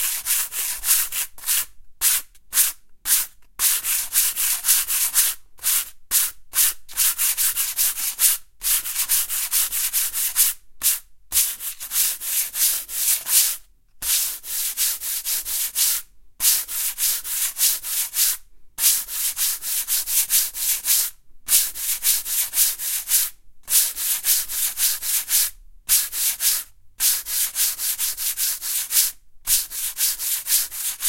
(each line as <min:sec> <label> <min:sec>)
0:11.4 sand paper on wooden surface 0:20.0
0:22.4 sand paper on wooden surface 0:31.0